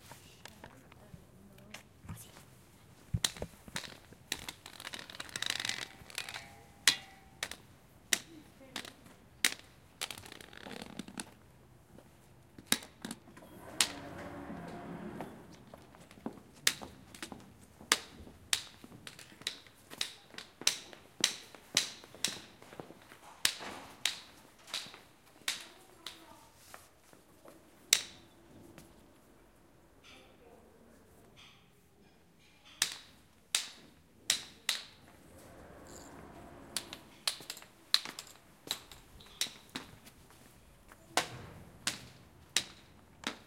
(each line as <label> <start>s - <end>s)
door 13.4s - 15.7s